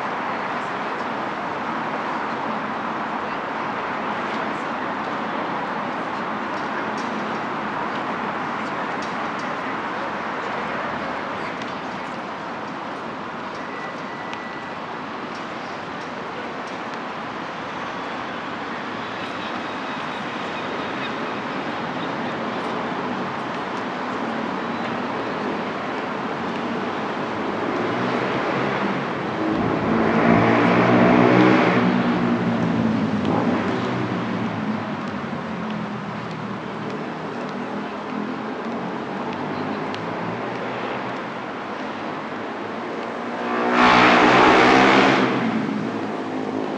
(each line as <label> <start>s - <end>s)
chatter from pedestrians 0.0s - 43.4s
buses passing on their route 0.0s - 46.7s
loud motorcycle riding by 43.2s - 45.8s